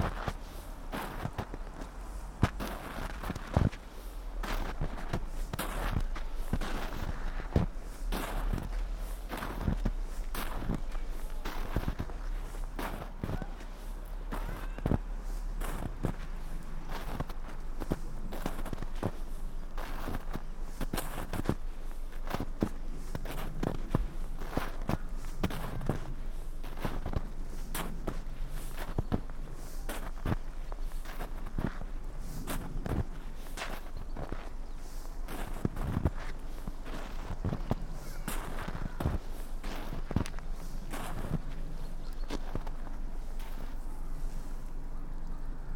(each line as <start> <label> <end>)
0.0 steps 21.6
0.2 distant voices 20.7
22.2 steps 44.6
24.0 distant voices 45.7
38.0 crows 39.3